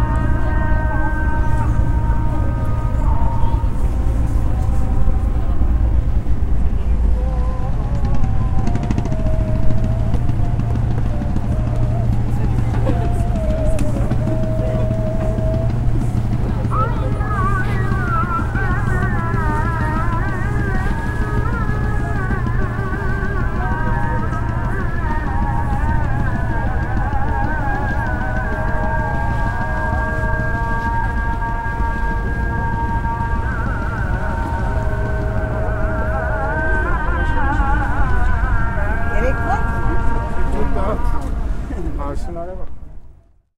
0.0s Ezan (Islam prayer) 42.8s
0.0s background boat sounds 43.4s

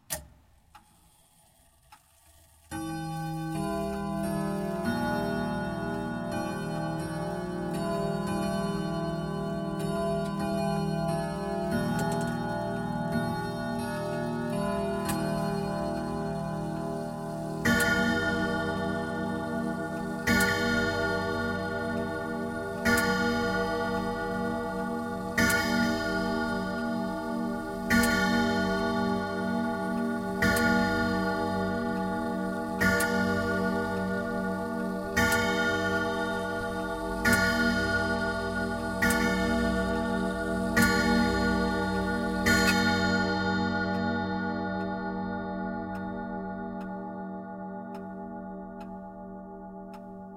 2.7s grandfather clock chimes 50.3s

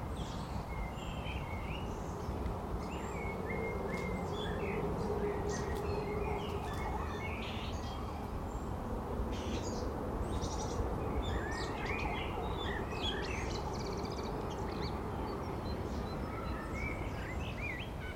0.0s birds singing 18.1s

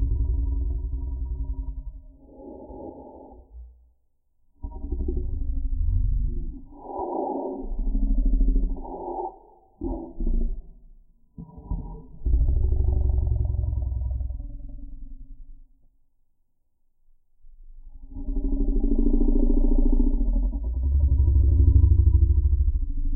0.0s Lion Growling 3.7s
1.4s Lion Breathing 3.8s
6.5s Lion Breathing 10.3s
18.0s Lion Growling 22.9s

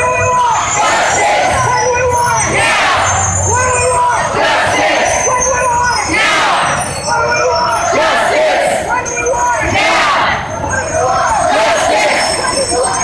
0.0s chant 13.0s

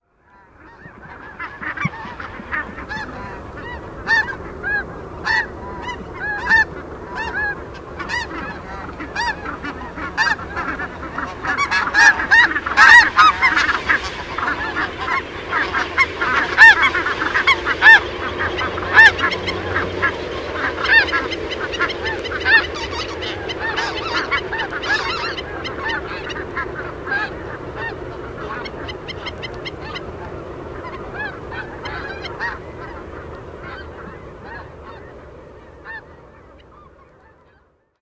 0.0s geese overhead 38.0s

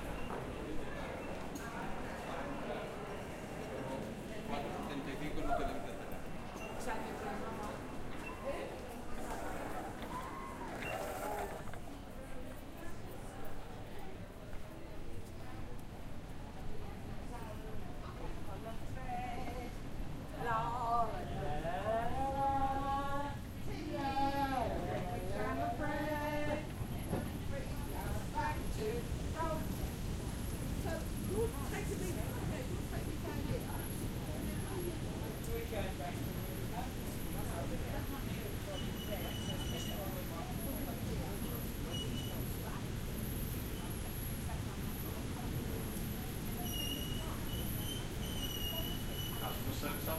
0.0s train 50.1s

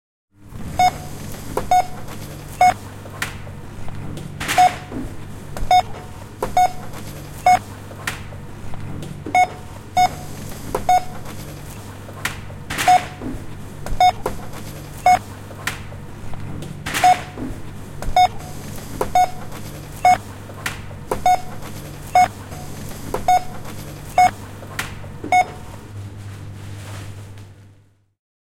0.6s Cash register with bar code at work 8.5s
0.8s beeps 2.8s
5.7s beeps 5.9s
6.5s beeps 7.6s
9.2s Cash register with bar code at work 26.0s
9.4s beeps 11.2s
12.8s beeps 13.2s
14.0s beeps 14.3s
15.0s beeps 15.2s
17.0s beeps 17.4s
18.2s beeps 20.3s
21.2s beeps 24.4s
25.3s beeps 25.7s

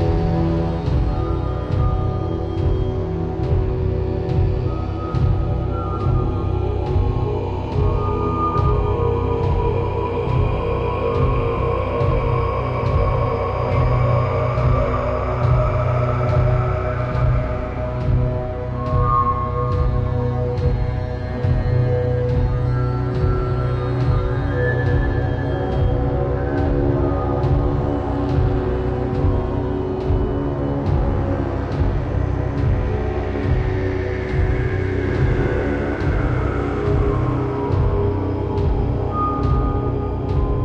0.0s bass 40.6s

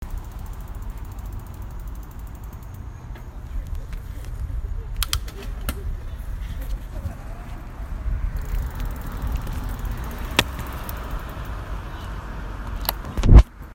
0.0s traffic 13.7s

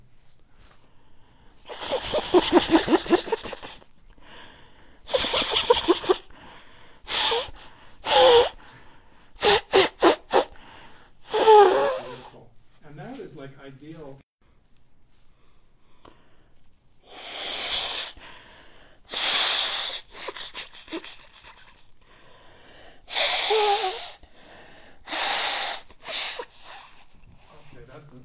0.6s sniffing 12.4s
1.6s Young Nose Blowing 3.9s
5.0s Young Nose Blowing 8.8s
9.4s Young Nose Blowing 12.4s
15.4s sniffing 27.9s
17.0s Young Nose Blowing 18.4s
19.1s Young Nose Blowing 22.0s
22.9s Young Nose Blowing 24.3s
25.0s Young Nose Blowing 27.7s

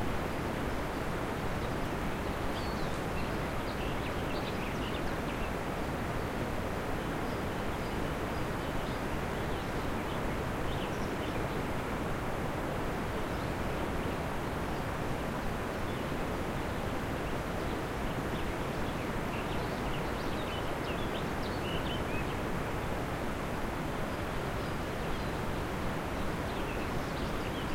0.0s river 27.7s
1.6s Birds singing 5.6s
15.9s Birds singing 22.5s
24.1s Birds singing 27.7s

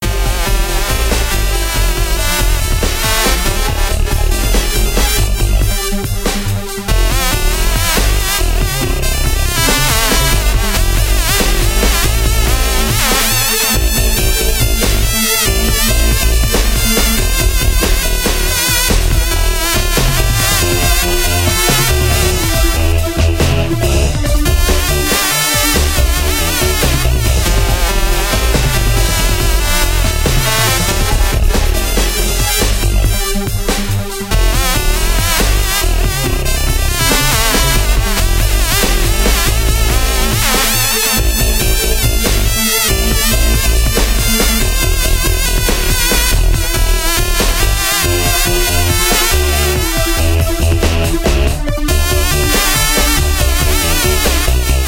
0.0s Bass 54.8s
0.0s Drum 54.8s
0.0s Synth 54.8s

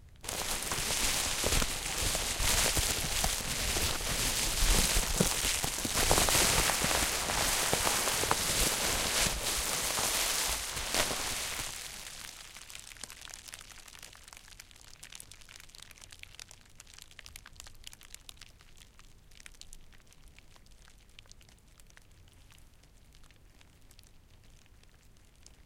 0.2s rustle.bub-Wrap Unravel 2 13.6s

